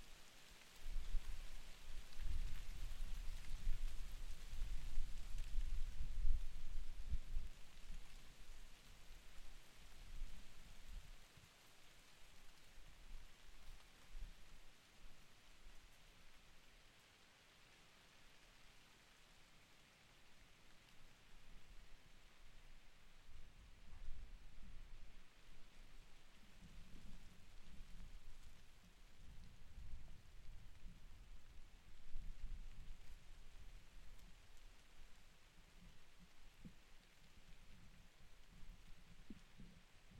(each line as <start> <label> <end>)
0.0 Poplar leaves in the wind 40.1